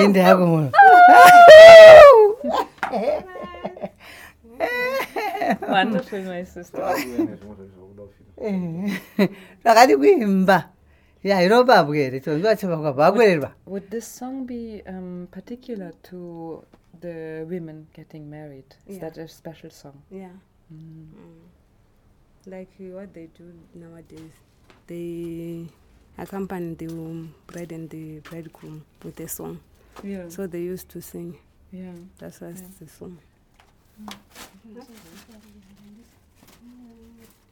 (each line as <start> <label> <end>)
0.0 responds with a song 2.6